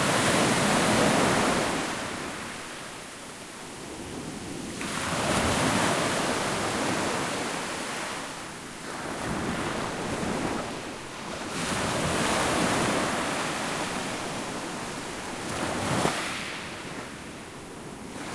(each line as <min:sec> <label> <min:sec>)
0:00.0 Sea Waves 0:18.3